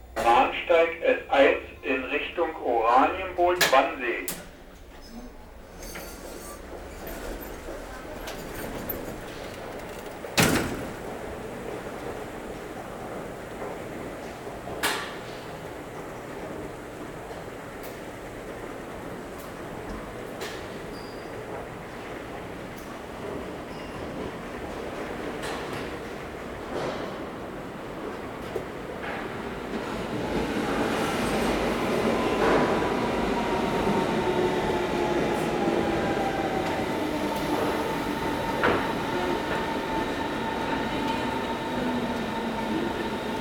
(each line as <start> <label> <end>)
0.0 train arriving 43.4
5.0 elevator 12.3